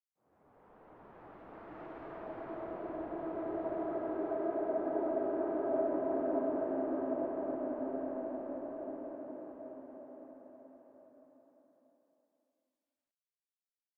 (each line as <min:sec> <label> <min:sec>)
0:00.4 Wind space howling effect 0:11.2